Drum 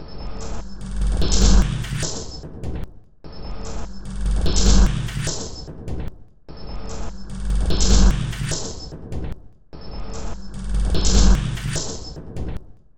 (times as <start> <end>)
0.4 3.1, 3.7 6.2, 7.0 9.5, 10.3 12.8